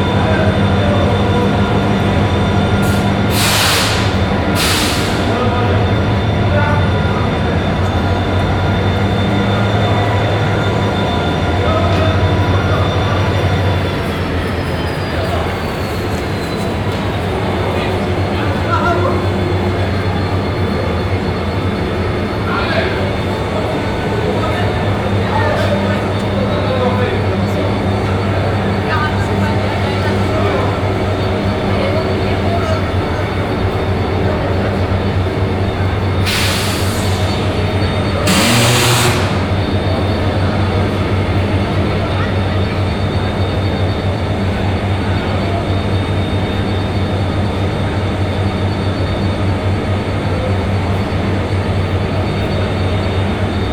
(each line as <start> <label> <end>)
0.0 third train arrives slowly driving backwards 53.7
0.0 two trains 53.7
38.2 train service engineer positions some metal poles 39.6